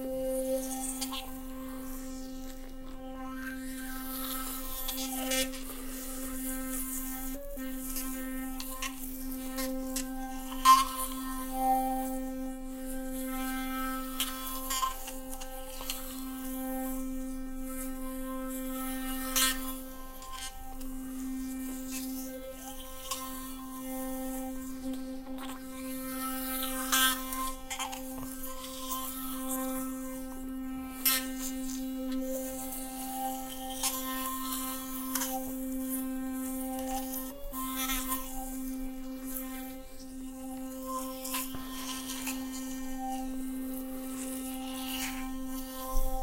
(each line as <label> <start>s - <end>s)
brushing my teeth with a sonicare electric toothbrush 0.0s - 46.2s